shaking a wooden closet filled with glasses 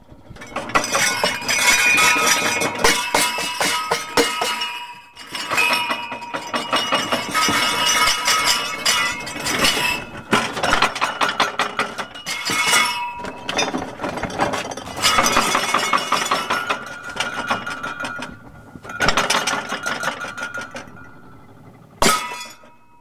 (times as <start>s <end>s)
5.3s 21.6s